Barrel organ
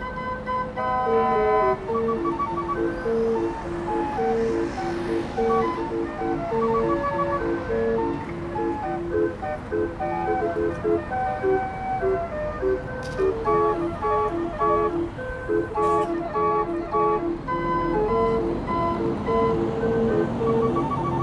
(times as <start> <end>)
5.4 21.2